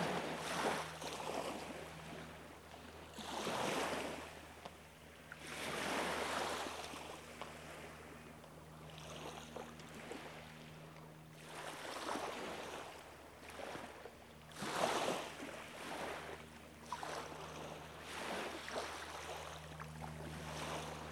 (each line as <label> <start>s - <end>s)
Beachcombers 0.0s - 4.8s
Seaplanes 0.0s - 21.1s